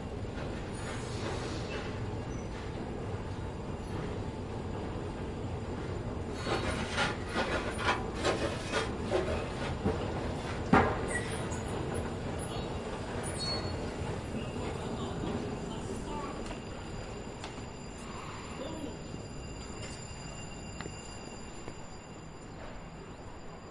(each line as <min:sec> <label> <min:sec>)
0:00.0 1-train subway car, as it slowly moves through the tunnels 0:23.7
0:00.0 subway announcement 0:23.7